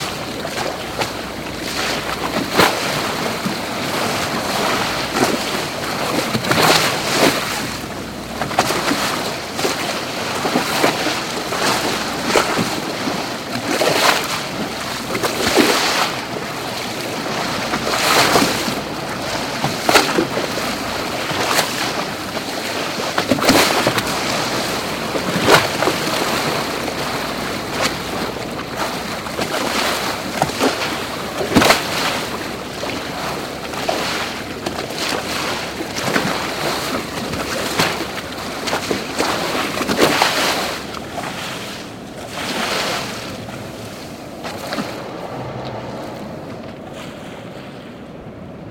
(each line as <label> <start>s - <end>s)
Ocean waves hitting bow of moving boat 0.0s - 48.7s